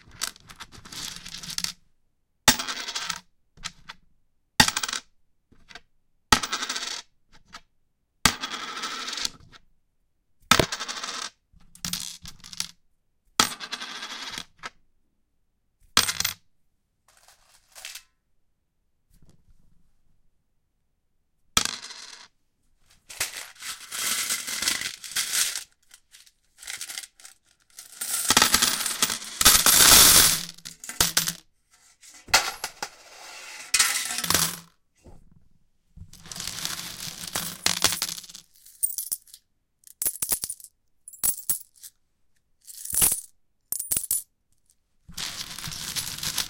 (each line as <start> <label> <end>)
16.0 drop some coins on a metallic surface 16.4
17.1 drop some coins on a metallic surface 18.1
21.6 drop some coins on a metallic surface 22.3
23.1 drop some coins on a metallic surface 31.4
32.0 drop some coins on a metallic surface 34.7
36.2 drop some coins on a metallic surface 41.9
42.7 drop some coins on a metallic surface 44.3
45.2 drop some coins on a metallic surface 46.4